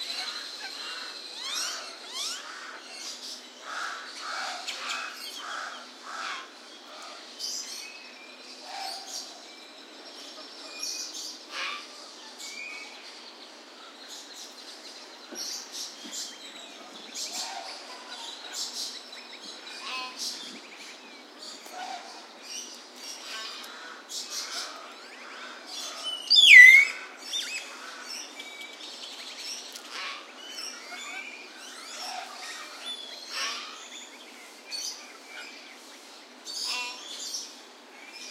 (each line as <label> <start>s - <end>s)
lorikeets 0.0s - 7.8s
lorikeets 15.3s - 38.3s
White-necked Raven 23.2s - 28.3s
close-up calls from a Hill Myna 26.3s - 27.1s